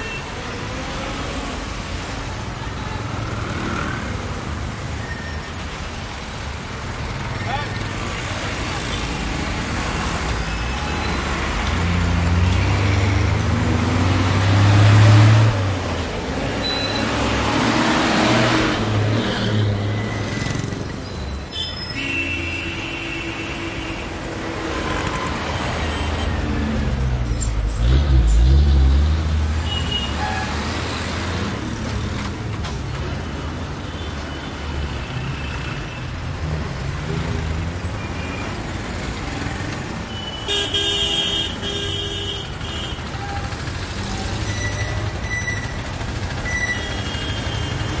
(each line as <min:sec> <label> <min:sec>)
0:00.0 cars 0:48.0
0:00.0 trucks 0:48.0
0:02.9 motorcycles 0:04.9
0:06.4 motorcycles 0:21.1
0:41.4 motorcycles 0:48.0